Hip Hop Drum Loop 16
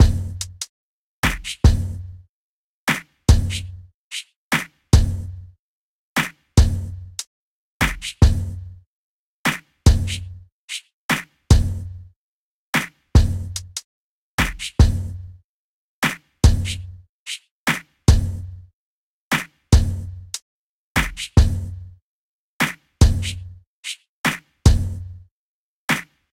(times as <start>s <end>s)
0.0s 0.6s, 1.2s 2.0s, 9.9s 10.3s, 14.4s 15.1s